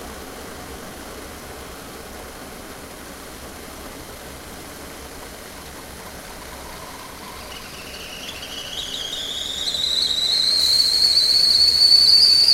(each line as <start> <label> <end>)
0.0 teapot boils 12.5
5.7 whistle 12.5